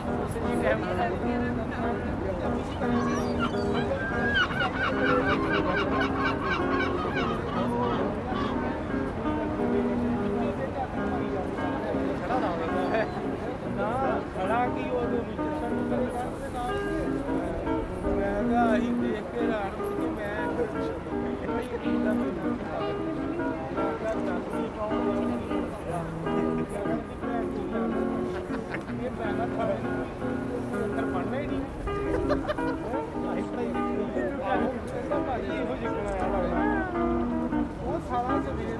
acoustic guitar player 0.0 - 38.7
seagulls 2.8 - 8.8

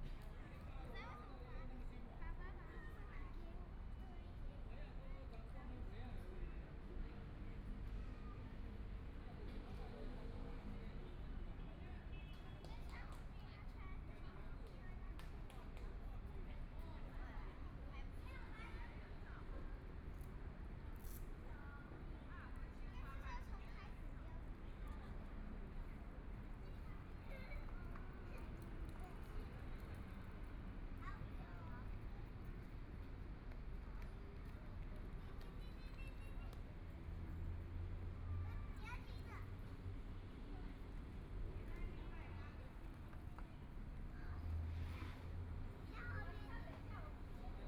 Traffic Sound 21.4 - 47.6

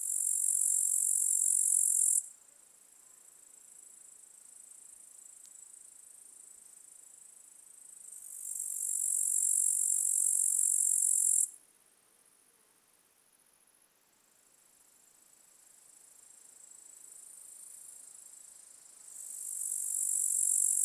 lone grasshopper 0.0 - 11.6
lone grasshopper 14.3 - 20.8

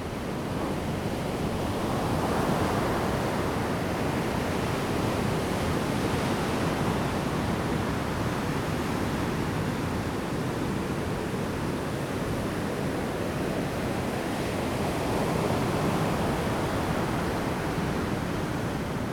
wind 0.0 - 19.1

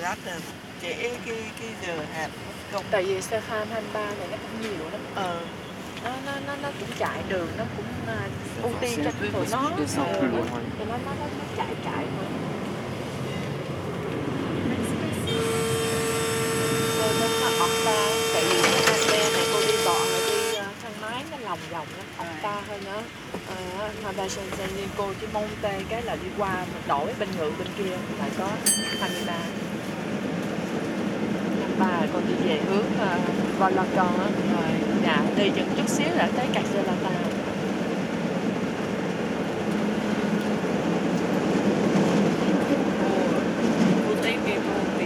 2 women talking 0.0 - 12.5
2 women talking 16.6 - 29.6
2 women talking 31.6 - 37.4

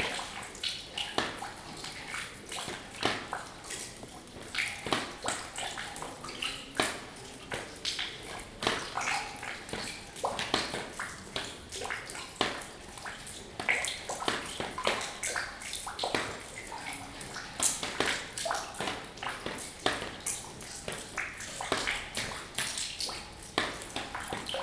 Water drops falling into an empty bucket and on the floor 0.0 - 24.6

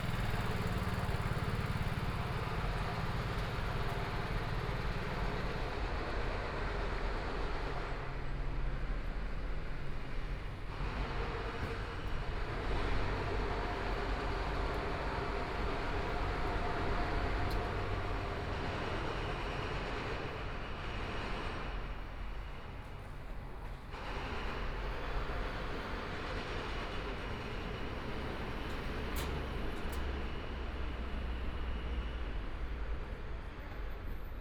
Construction site sounds 0.0 - 34.4
Pedestrian 0.0 - 34.4
walking In the Street 0.0 - 34.4
Traffic Sound 9.8 - 34.4

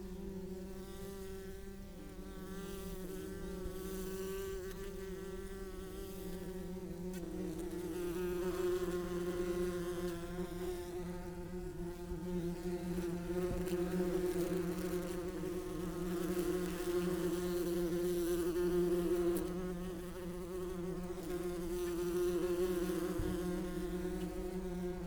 Open bees nest 0.0 - 25.0
background noise 0.0 - 25.0

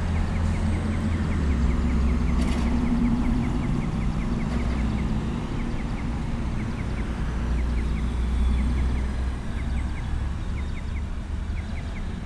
cars passing 0.0 - 12.2

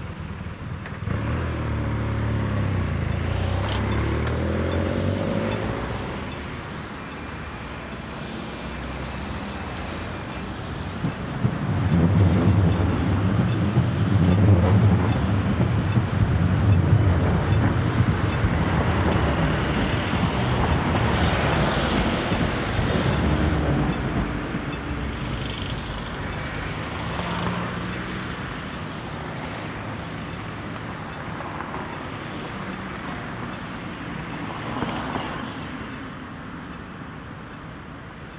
cars and trucks 0.0 - 38.3
Getting out of the tram 10.0 - 25.4

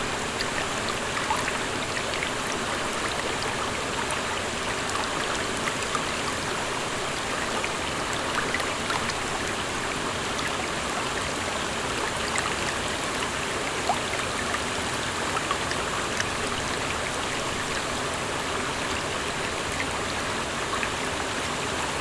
Indian Brook Falls 0.0 - 22.0

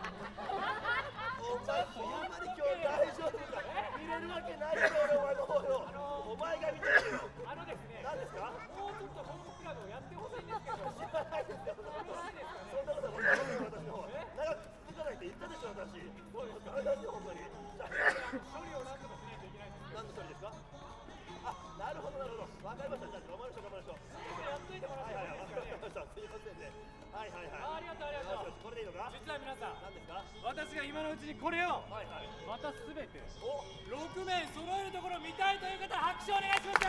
conjurers performing and entertaining kids 0.0 - 36.8

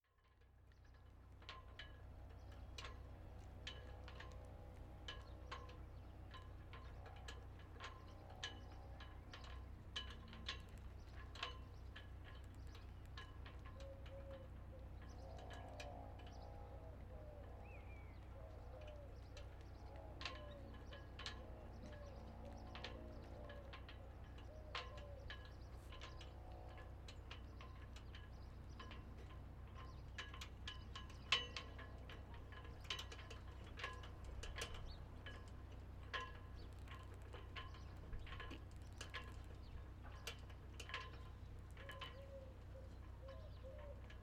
Haubans joués par les vents 0.9 - 44.2

